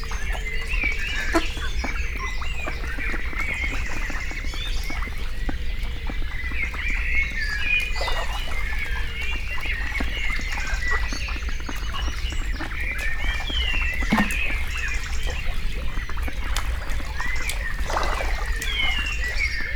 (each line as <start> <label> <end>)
0.2 Hungry mallard greet the day 5.4